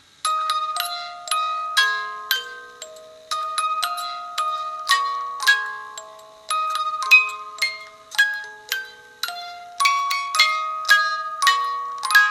0.0s hand-cranked music box mechanism 12.3s

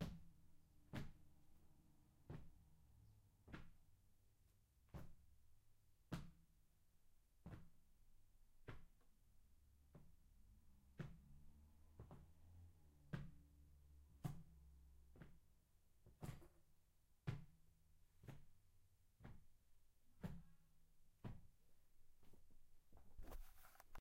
20.2s slow walking hard surface 24.0s

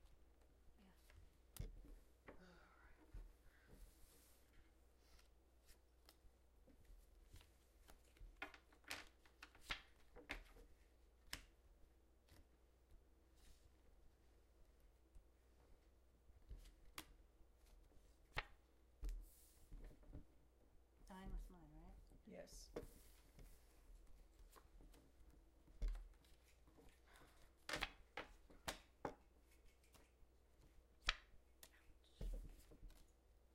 0.4s Quietly playing cards 11.6s
22.7s Quietly playing cards 33.2s

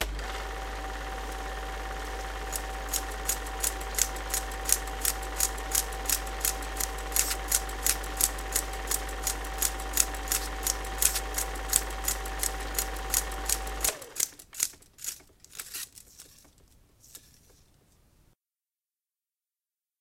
1.2s 8mm film flopping 17.7s

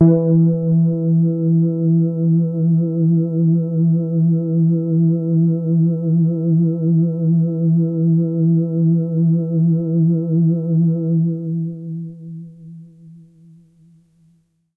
0.0s synth 1.6s

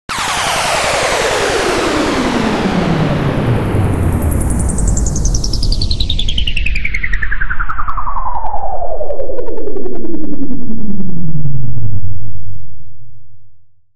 0.1s Energy Release 2.5s

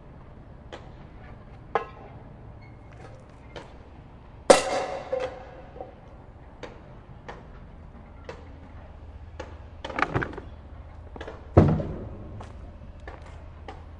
0.0s noises with various objects found under a bridge 13.9s
0.0s workers far away 13.9s
4.5s metal 6.1s

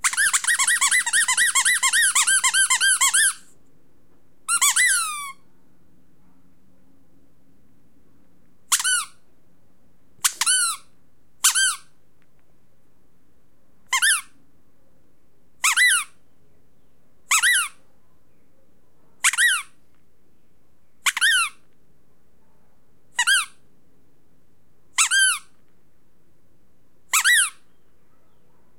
0.0s rubber squeaky toy being squeezed 3.5s
4.5s rubber squeaky toy being squeezed 5.4s
8.7s rubber squeaky toy being squeezed 9.2s
10.2s rubber squeaky toy being squeezed 12.0s
13.9s rubber squeaky toy being squeezed 14.4s
15.6s rubber squeaky toy being squeezed 16.2s
17.3s rubber squeaky toy being squeezed 17.8s
19.2s rubber squeaky toy being squeezed 19.8s
21.0s rubber squeaky toy being squeezed 21.6s
23.2s rubber squeaky toy being squeezed 23.6s
25.0s rubber squeaky toy being squeezed 25.6s
27.1s rubber squeaky toy being squeezed 27.6s

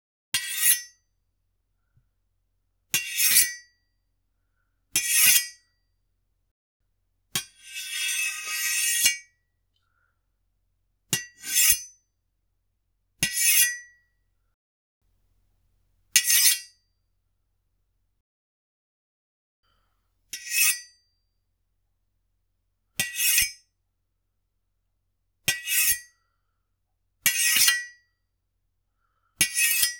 7.8s sword small blade slides 9.2s

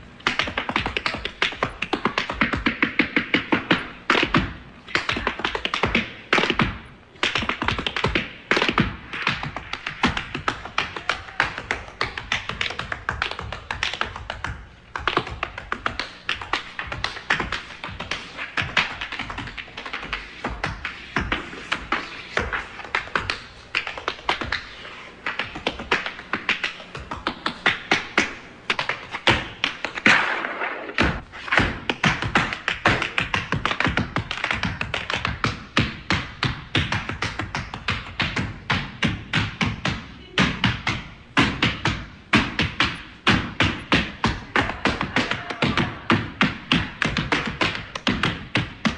0.2s Single tap dancer, dancing on stage 48.9s

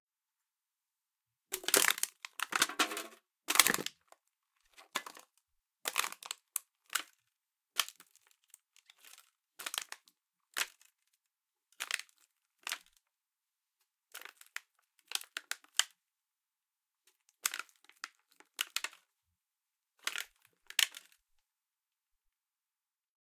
1.5s Can crushed, and repeatedly stepped on 4.0s

